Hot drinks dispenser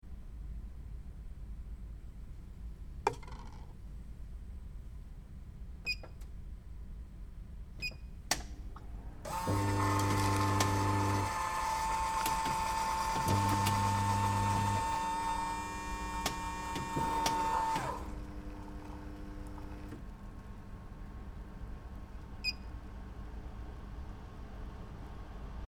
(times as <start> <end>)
9.2 20.0